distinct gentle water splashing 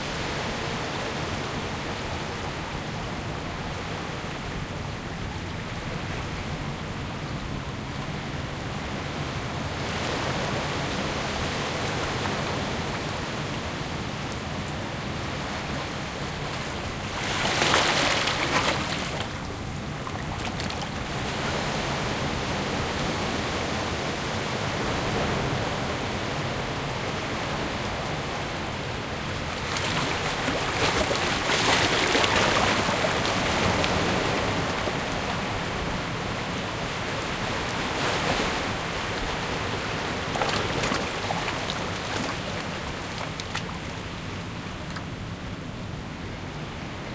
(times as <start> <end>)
37.6 44.2